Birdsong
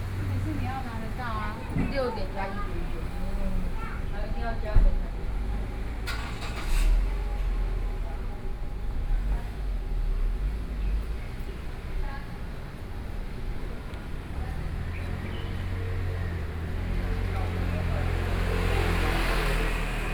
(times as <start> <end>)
14.5 16.9